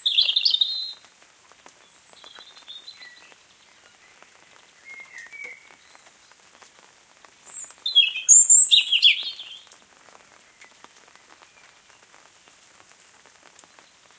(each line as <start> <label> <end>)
0.0 birdsong 1.1
0.0 drips from a nearby tree 14.1
0.0 rain 14.1
1.8 birdsong 6.6
7.4 birdsong 9.7